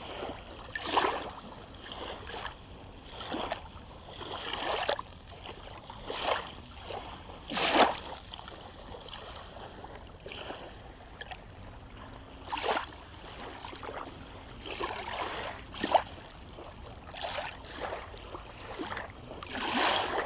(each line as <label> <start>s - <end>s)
waves 0.0s - 20.2s